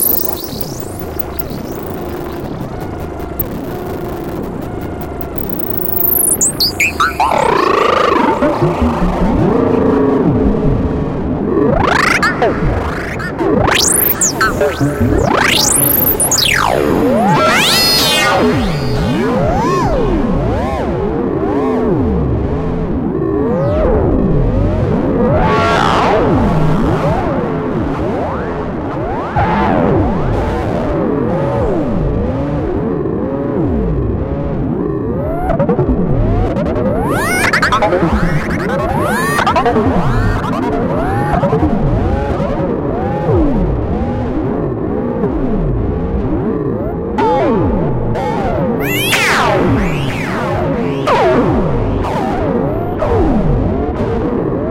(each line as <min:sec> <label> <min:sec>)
0:36.9 Screaming machine 0:41.5
0:48.6 Screaming machine 0:50.3